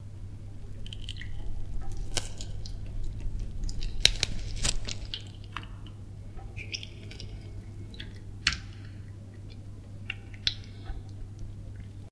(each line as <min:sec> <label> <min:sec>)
0:00.0 squelch 0:12.1
0:00.0 break 0:12.0